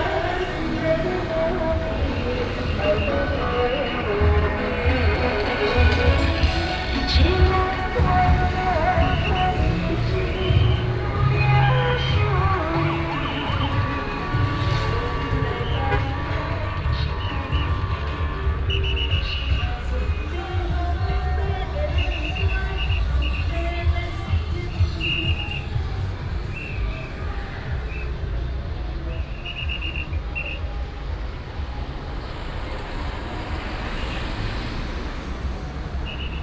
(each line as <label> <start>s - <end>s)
Traffic sound 0.0s - 36.4s
Whistle sound 5.0s - 20.6s
Whistle sound 21.5s - 28.4s
Whistle sound 29.0s - 31.1s
Whistle sound 36.0s - 36.4s